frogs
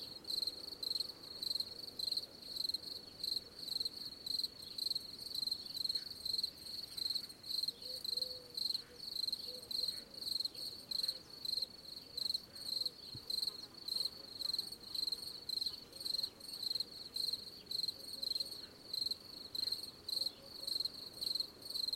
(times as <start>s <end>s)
17.2s 21.9s